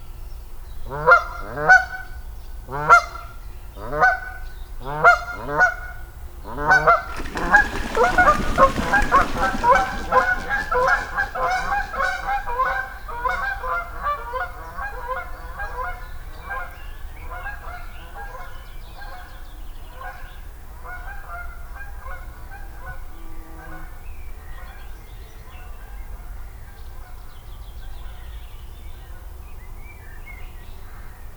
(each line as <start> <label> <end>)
5.0 Geese take off from the lake 19.2